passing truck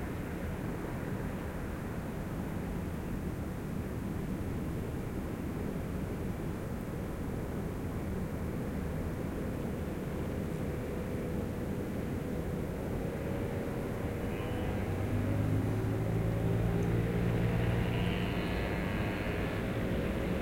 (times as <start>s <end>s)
9.7s 20.4s